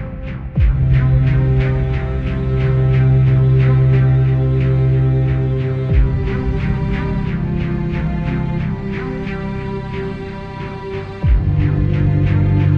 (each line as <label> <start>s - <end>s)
deep, reverberating and mellow kickdrum 0.0s - 4.2s
full string section 0.0s - 12.7s
deep, reverberating and mellow kickdrum 5.8s - 8.9s
deep, reverberating and mellow kickdrum 11.2s - 12.7s